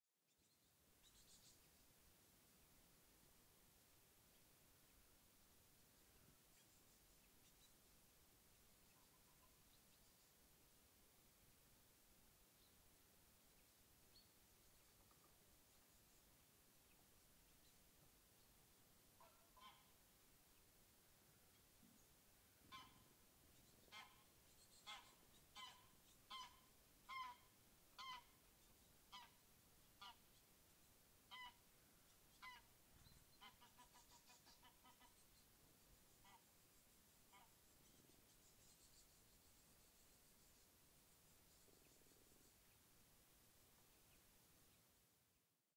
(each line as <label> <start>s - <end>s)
forest winds 0.2s - 45.6s
birds 0.3s - 1.8s
birds 6.0s - 10.4s
birds 12.6s - 20.7s
birds 21.4s - 43.0s